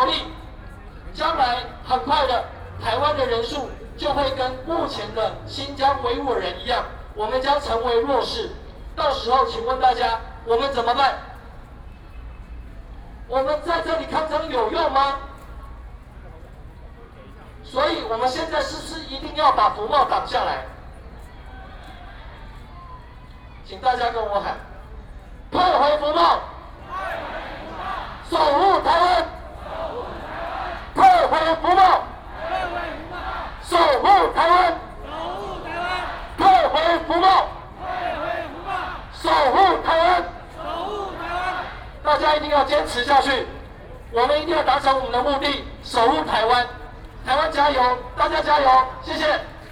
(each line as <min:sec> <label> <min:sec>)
0:00.0 People and students 0:49.7